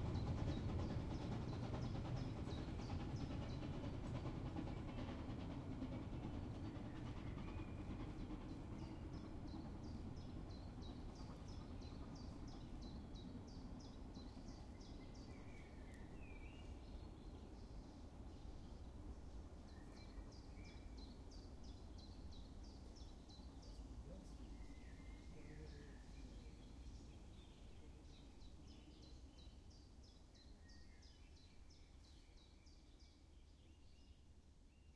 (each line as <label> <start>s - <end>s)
Steam-Train Molli passes through 0.0s - 34.9s